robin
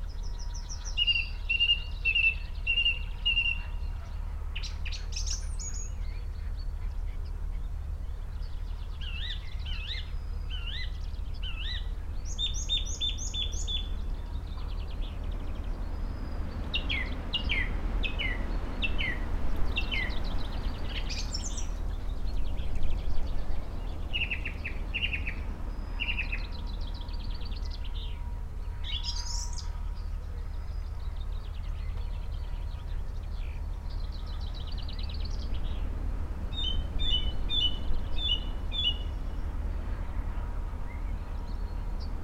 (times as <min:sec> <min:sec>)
0:23.9 0:35.7